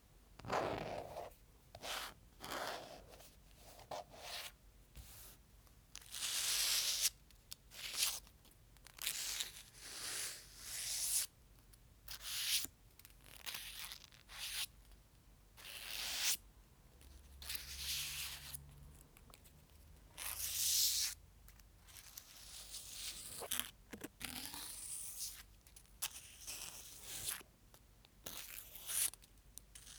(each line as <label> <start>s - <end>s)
Wiping and sliding pieces of paper around on different surfaces 0.8s - 5.4s